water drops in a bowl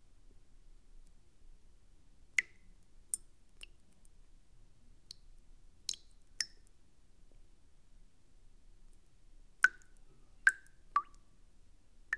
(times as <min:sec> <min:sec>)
0:02.4 0:03.8, 0:05.9 0:06.6, 0:09.6 0:11.2